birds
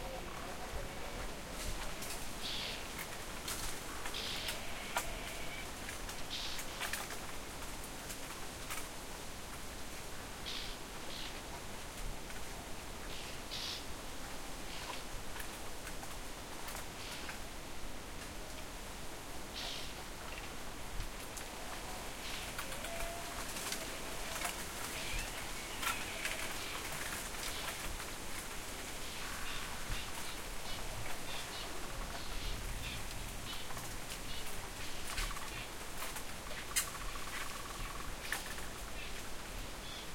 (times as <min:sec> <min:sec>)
0:00.0 0:07.2, 0:21.7 0:28.2, 0:28.9 0:40.1